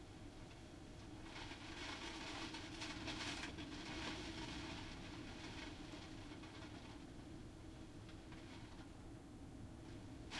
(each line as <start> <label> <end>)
0.0 Rain and storm from behind window 10.3